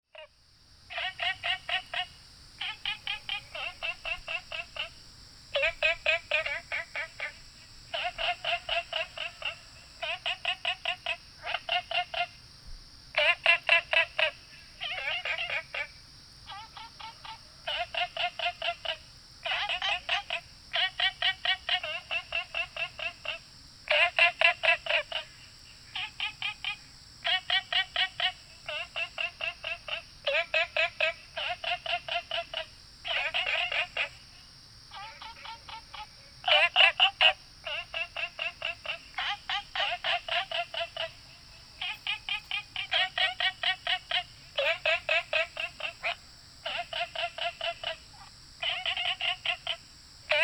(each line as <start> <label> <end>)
0.1 Insects called 50.4
0.2 Frogs chirping 50.4